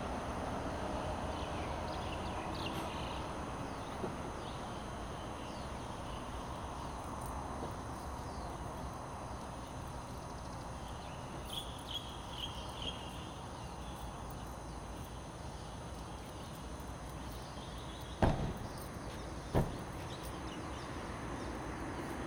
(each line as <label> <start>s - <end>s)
traffic sound 0.0s - 22.2s